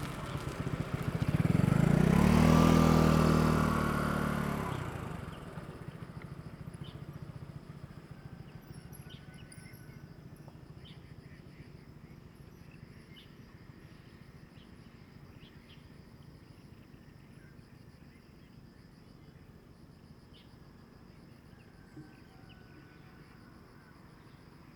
Traffic Sound 0.0 - 5.8

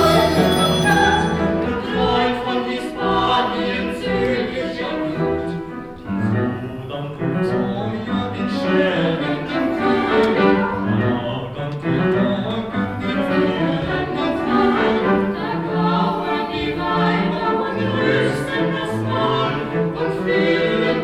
four people choir 0.0 - 21.0
piano 0.0 - 21.0

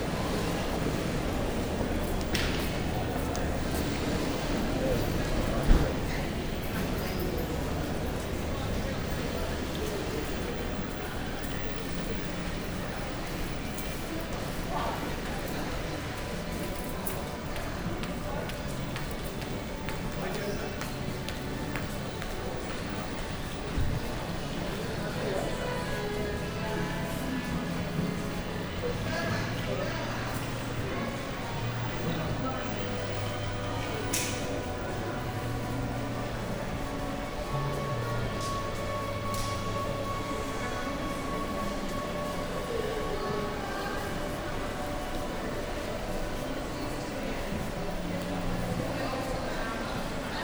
shoppers 0.0 - 50.4

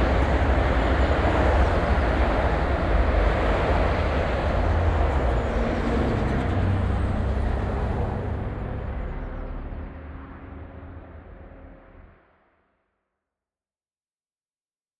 traffic 0.0 - 11.0

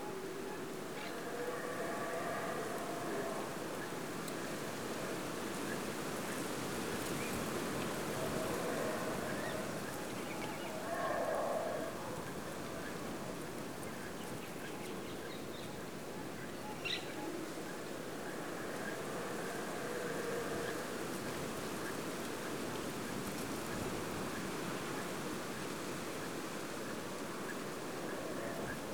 Howler monkeys 0.1 - 4.2
Howler monkeys 7.8 - 12.6
Howler monkeys 18.1 - 21.4
Howler monkeys 27.4 - 28.9

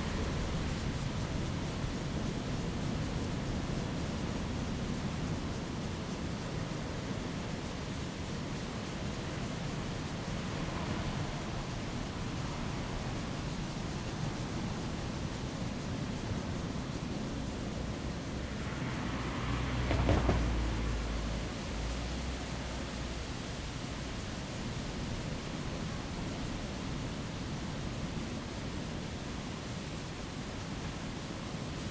Cicadas 0.0 - 31.9
waves 0.0 - 31.9

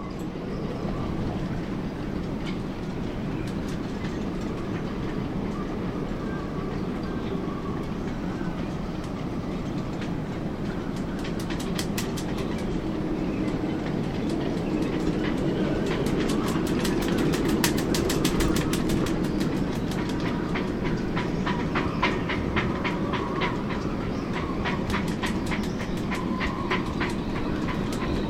wind is flapping the tarp 0.0 - 28.2

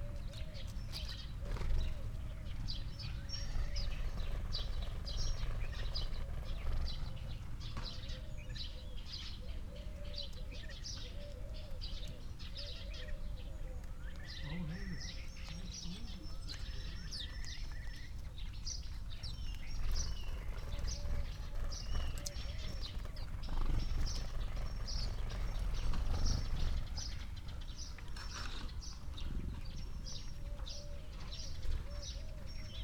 background noise 0.0 - 32.8
blue tit 0.0 - 32.8
collared dove 0.0 - 32.8
house sparrow 0.0 - 32.8
wood pigeon 0.0 - 32.8
robin 8.0 - 19.6

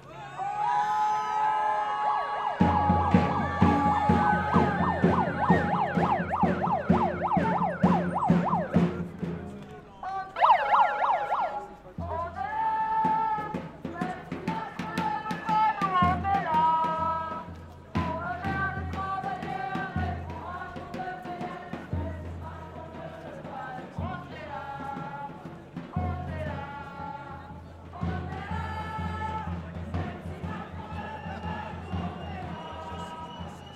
screaming singing 0.2 - 8.8

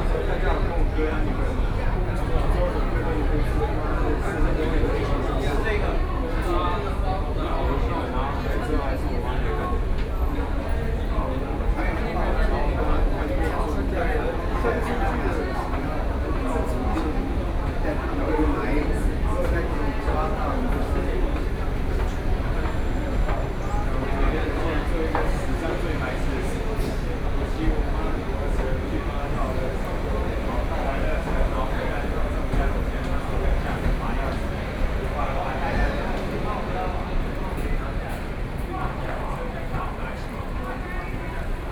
Walking in the station 0.0 - 41.7

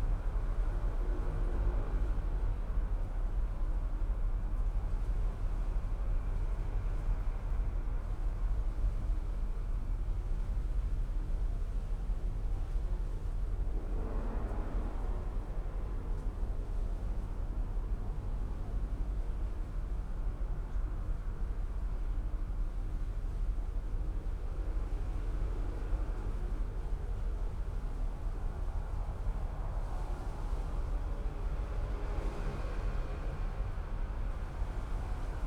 traffic heard in a tube 0.0 - 35.4

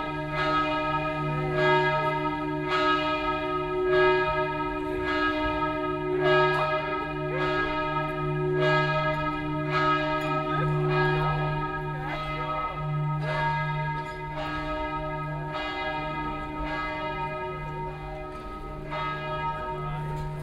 bells are tolling 0.0 - 20.4

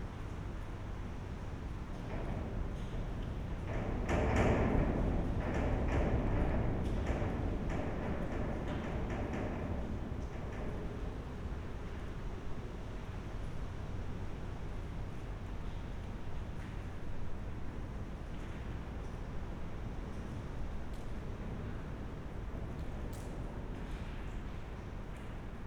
wind moves iron gate 1.9 - 13.3

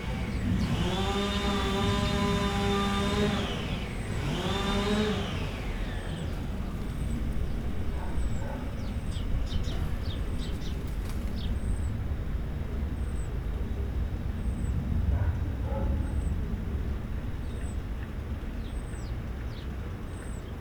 neighbour machine 0.0 - 10.4
passing plane 0.0 - 19.0
heavy (distant) construction work 0.0 - 20.2
birds 0.0 - 20.6
dogs 7.7 - 10.2
dogs 15.0 - 16.6

